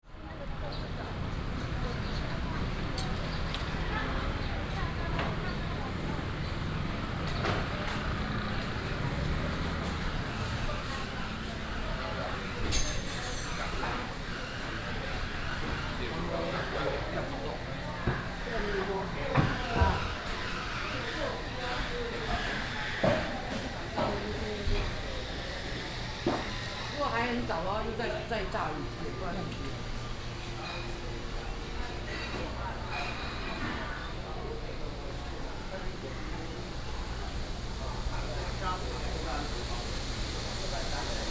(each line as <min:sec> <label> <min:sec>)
0:00.0 Walking in the market 0:41.3
0:00.1 traffic sound 0:27.6